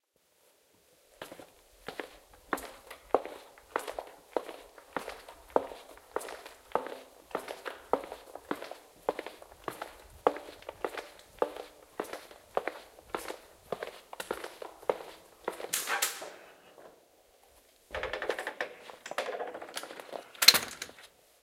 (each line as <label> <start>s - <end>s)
FootSteps in a Concrete Corridor 1.2s - 15.8s
door open 15.5s - 17.0s
door shut 15.7s - 16.5s
door shut 17.9s - 19.7s
door open 17.9s - 21.1s